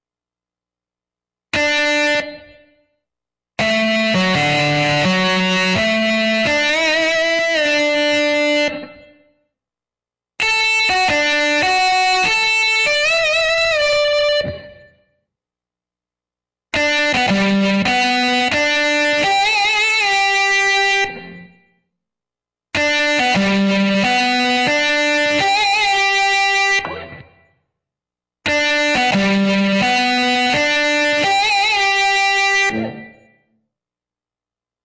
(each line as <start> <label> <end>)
3.6 Solo guitar lick 8.9
22.8 Solo guitar lick 27.4